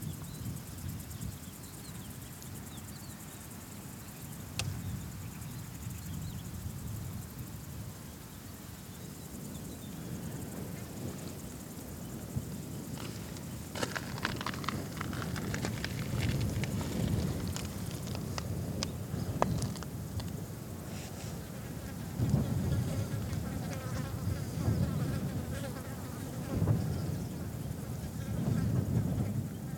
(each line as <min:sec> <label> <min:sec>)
0:00.0 wind 0:29.7
0:08.4 flies 0:29.7